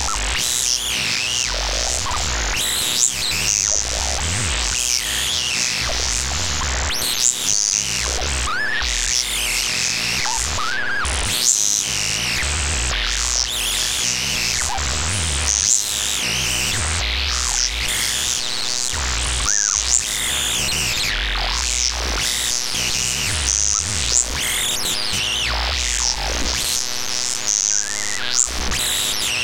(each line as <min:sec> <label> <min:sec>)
0:17.3 Glitched Oscillations 0:24.6